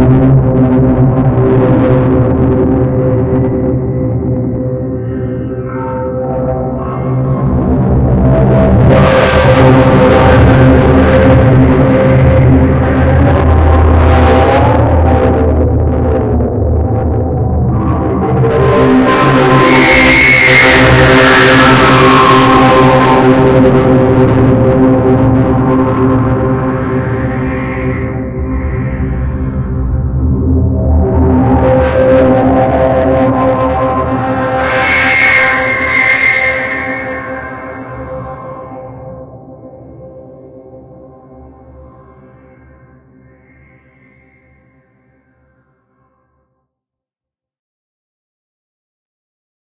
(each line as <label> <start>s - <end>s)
Distorted drone on C with rich overtones 0.0s - 44.6s